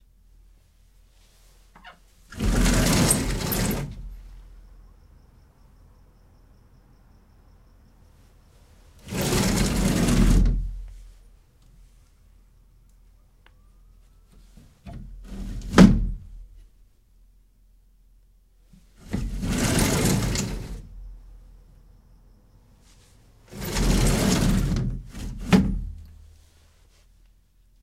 1.8s sliding door of a bath 4.2s
9.0s sliding door of a bath 11.0s
14.8s sliding door of a bath 16.3s
19.0s sliding door of a bath 20.9s
23.5s sliding door of a bath 26.1s

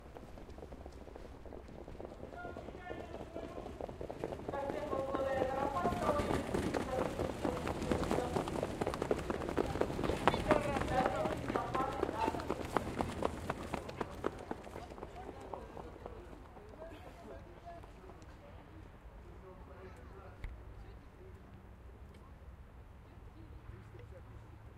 0.0s Horses pass by fans 20.4s

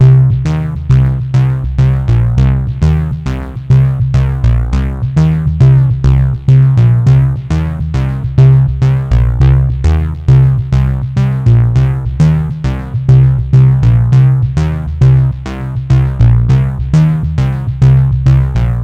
0.0s bass stab 18.8s

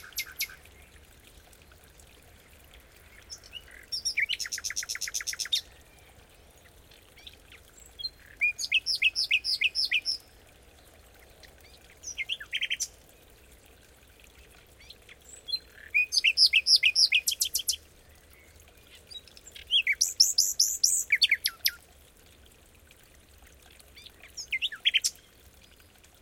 0.0s Nightingale singing 0.6s
0.0s small brook 26.2s
3.2s Nightingale singing 5.7s
7.9s Nightingale singing 10.3s
14.8s Nightingale singing 17.8s
19.0s Nightingale singing 21.8s
24.0s Nightingale singing 25.2s

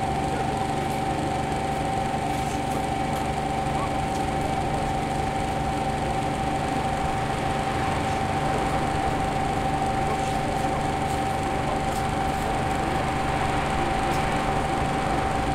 0.0s Hum of air conditioning split-system 15.5s

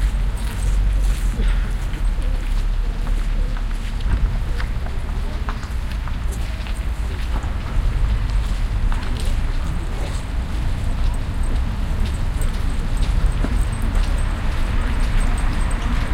0.0s cars 16.1s
0.0s chatter 16.1s
0.0s footsteps 16.1s
6.3s bells 16.1s

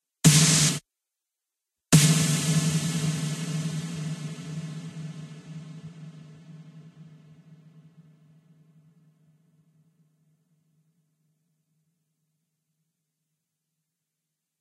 0.2s snare 0.8s
1.9s snare 6.6s

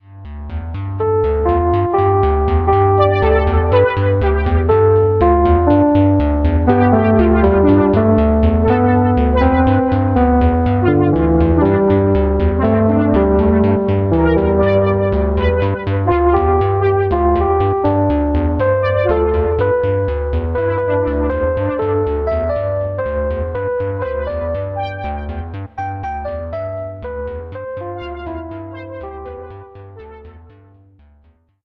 0.2s far out melody 30.8s

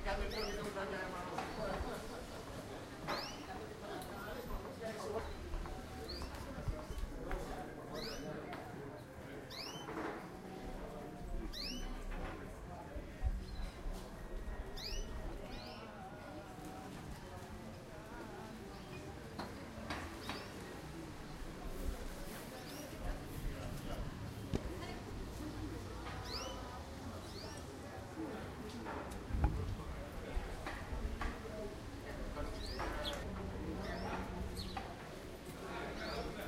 0.0s people 36.4s
0.2s bird 0.8s
3.1s bird 3.6s
8.0s bird 8.3s
9.5s bird 10.1s
11.5s bird 12.1s
14.6s bird 15.9s
19.9s bird 20.6s
26.1s bird 27.7s
32.4s bird 34.9s

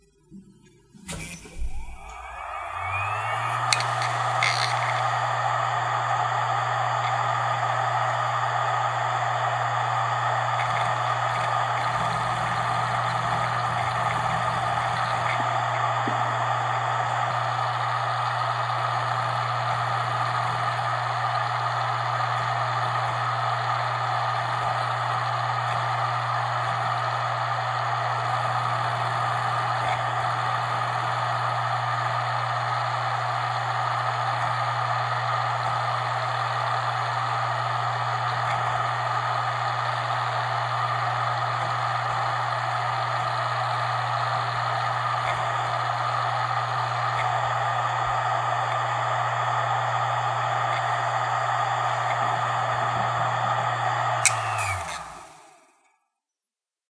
1.1s hard drive 55.7s

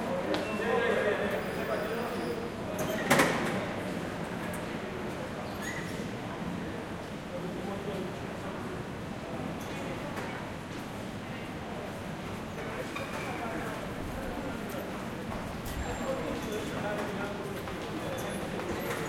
0.0s crowd 19.0s

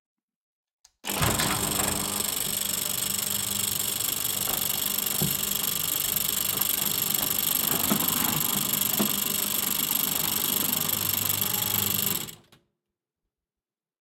1.1s Electronic Gate Open 12.4s

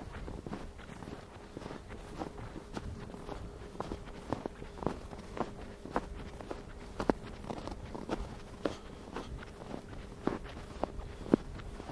0.0s walking through the snow 11.9s

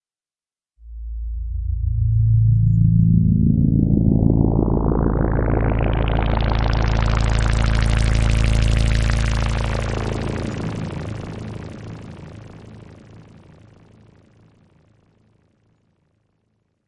0.8s drone 15.8s

